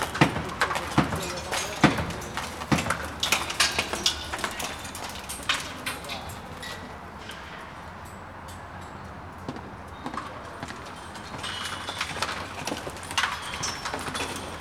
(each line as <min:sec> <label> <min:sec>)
0:00.0 pounding it with hammers and chisels 0:05.6